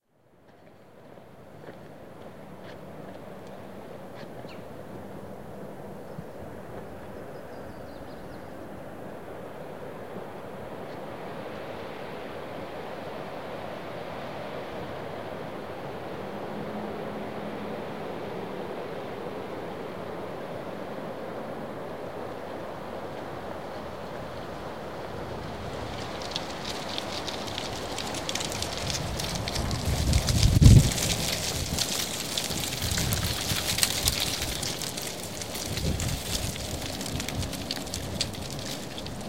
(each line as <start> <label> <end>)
0.0 wind blowing through oak tree branches 39.2
24.8 rattling dead leaves 39.2